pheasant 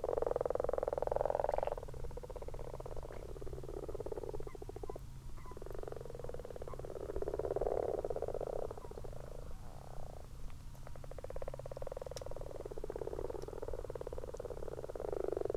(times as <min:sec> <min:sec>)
0:04.4 0:05.7